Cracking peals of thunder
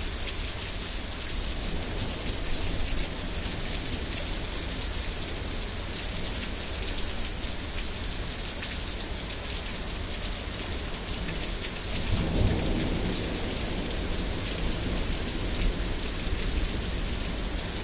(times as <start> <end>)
12.1 15.1